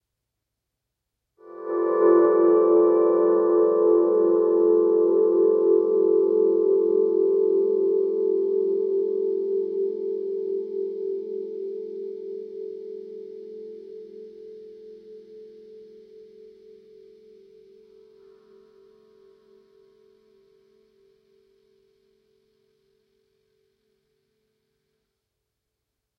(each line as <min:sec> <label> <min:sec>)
0:01.4 guitar 0:21.1